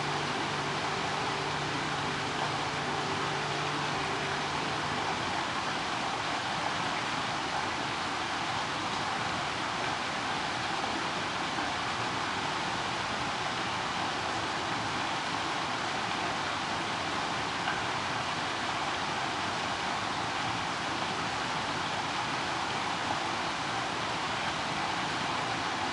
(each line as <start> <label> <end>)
0.0 Drone 5.5
0.0 Rain 25.9